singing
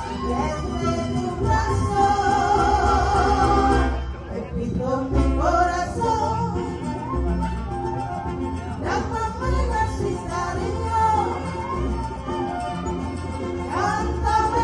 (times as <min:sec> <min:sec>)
0:00.0 0:06.8, 0:13.7 0:14.6